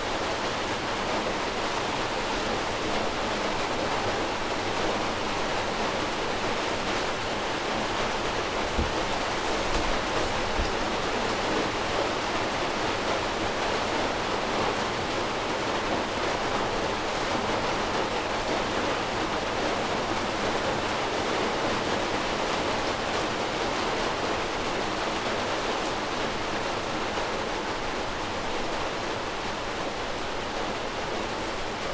0.0s rain 31.9s

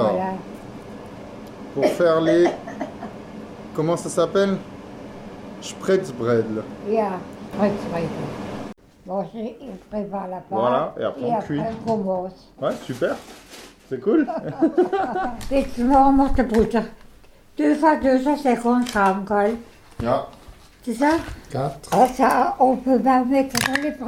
0.0s cooking Spretz Bredele 24.0s

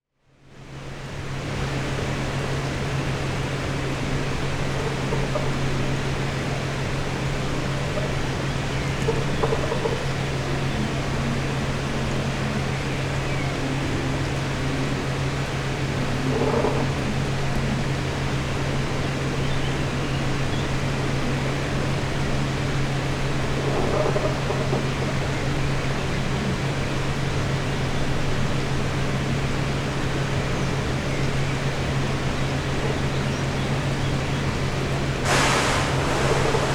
1.2s squeeky old fan 36.7s

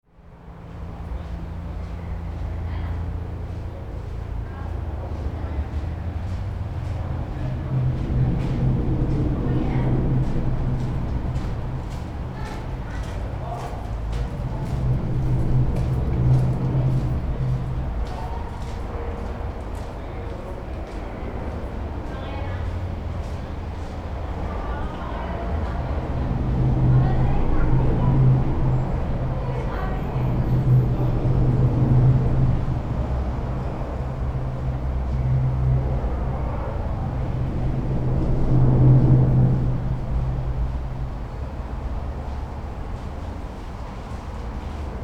0.1s pedestrians 45.0s
0.1s rythmic sound of cars from above 45.0s
0.2s cyclists 45.0s

